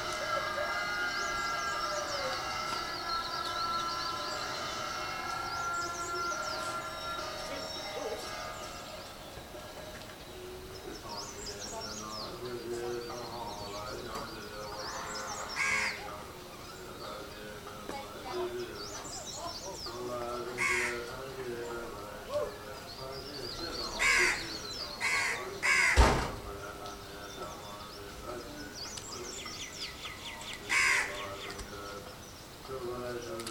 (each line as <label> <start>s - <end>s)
voice 0.0s - 8.9s
Buddhist chants being broadcast via loudspeaker 0.0s - 33.5s
birdsong 0.0s - 33.5s
voice 9.5s - 33.5s
cockerel crow 14.9s - 16.1s
cockerel crow 20.5s - 21.1s
cockerel crow 23.9s - 26.2s
cockerel crow 30.6s - 31.4s